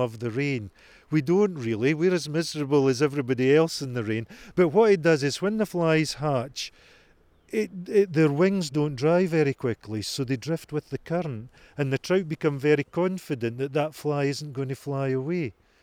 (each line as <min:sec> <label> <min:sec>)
0:00.0 Angler describes how to 'read' the River Tweed 0:06.7
0:00.0 river seam 0:15.8
0:07.5 Angler describes how to 'read' the River Tweed 0:15.5